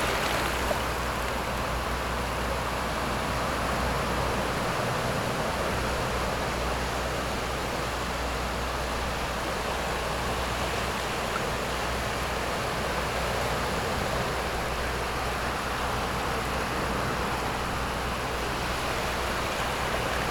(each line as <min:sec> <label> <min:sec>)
0:00.0 boats on the distant sea 0:20.3
0:00.0 waves 0:20.3